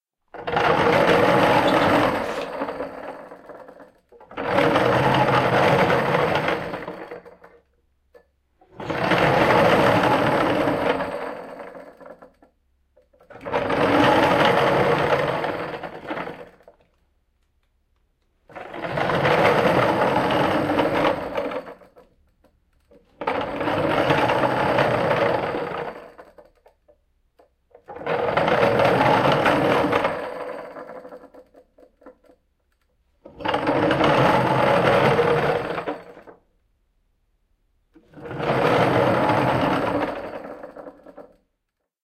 wooden beam being pushed along a series of parallel steel tubular rollers 0:00.3 - 0:12.4
wooden beam being pushed along a series of parallel steel tubular rollers 0:13.1 - 0:16.8
wooden beam being pushed along a series of parallel steel tubular rollers 0:18.5 - 0:22.1
wooden beam being pushed along a series of parallel steel tubular rollers 0:22.8 - 0:26.7
wooden beam being pushed along a series of parallel steel tubular rollers 0:27.7 - 0:32.4
wooden beam being pushed along a series of parallel steel tubular rollers 0:33.2 - 0:36.4
wooden beam being pushed along a series of parallel steel tubular rollers 0:38.0 - 0:41.4

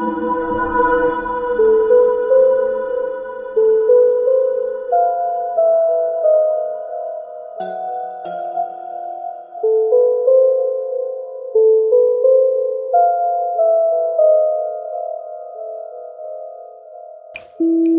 Wicked and mysterious music 0:00.0 - 0:17.9

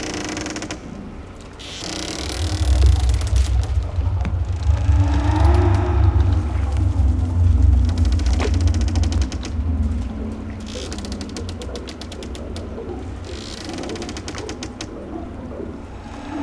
rustling cables 0:01.9 - 0:14.6
ghostly sounds 0:02.2 - 0:16.4

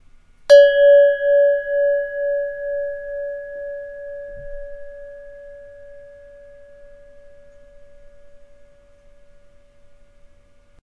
Indian Desert Bell 0:00.5 - 0:10.7

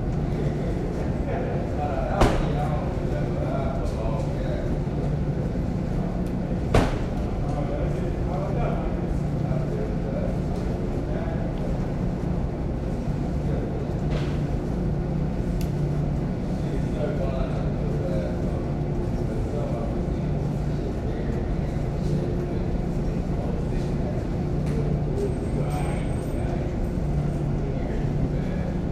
distant conversations 0:00.0 - 0:28.9

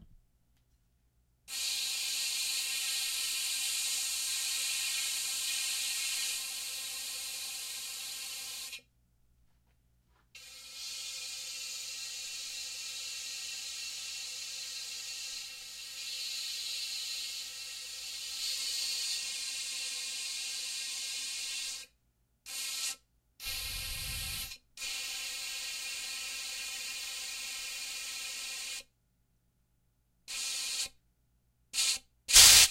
steam pipe 0:01.5 - 0:08.8
steam pipe 0:22.5 - 0:28.8
steam pipe 0:31.8 - 0:32.7

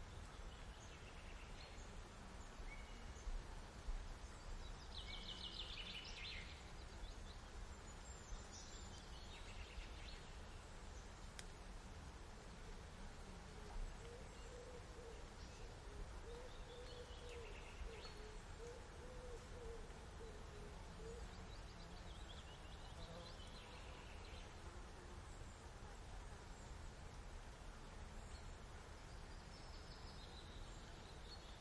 birds 0:12.4 - 0:31.6

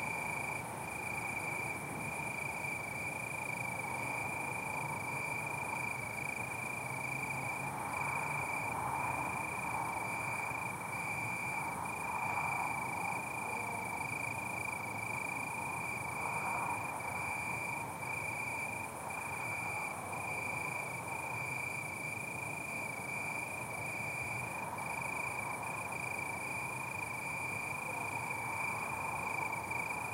Cricket in bush 0:00.0 - 0:30.1

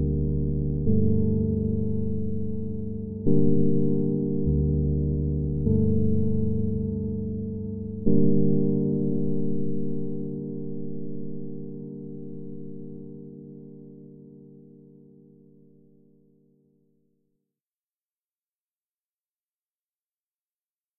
bass 0:00.0 - 0:09.0
electric piano 0:00.0 - 0:16.4

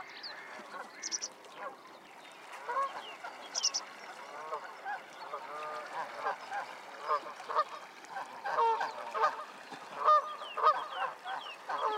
Canada geese 0:00.0 - 0:01.8
mallard 0:00.0 - 0:01.8
song thrush 0:00.0 - 0:04.1
mallard 0:02.6 - 0:11.9
Canada geese 0:02.6 - 0:11.9

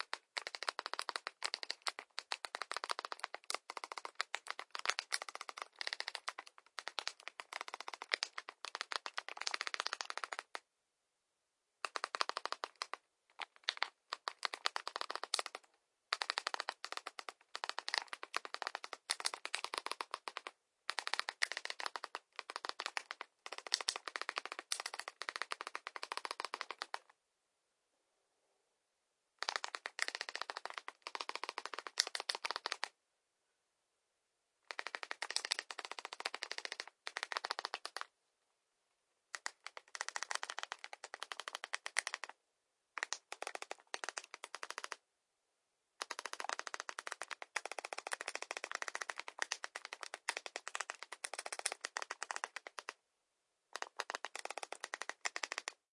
phone keyboard during writing an SMS 0:00.0 - 0:10.6
phone keyboard during writing an SMS 0:11.8 - 0:27.1
phone keyboard during writing an SMS 0:29.4 - 0:32.9
phone keyboard during writing an SMS 0:34.7 - 0:38.1
phone keyboard during writing an SMS 0:39.3 - 0:42.4
phone keyboard during writing an SMS 0:43.0 - 0:45.0
phone keyboard during writing an SMS 0:46.0 - 0:53.0
phone keyboard during writing an SMS 0:53.7 - 0:55.8

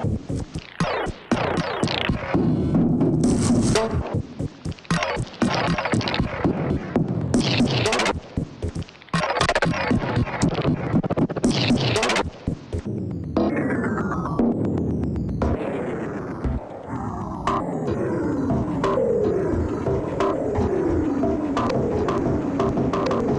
Drum Loop 0:00.0 - 0:23.3
drone 0:13.4 - 0:23.3

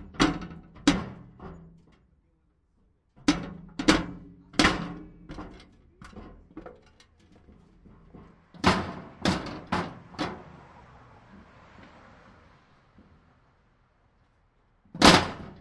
metal thing kicking hits thud rattle 0:03.2 - 0:10.4
metal thing kicking hits thud rattle 0:15.0 - 0:15.6

